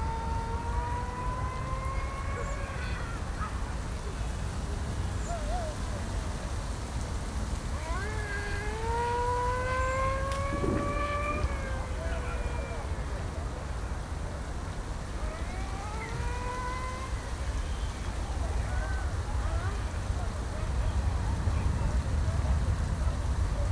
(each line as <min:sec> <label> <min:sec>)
0:00.0 activity of people 0:23.7
0:00.0 wind 0:23.7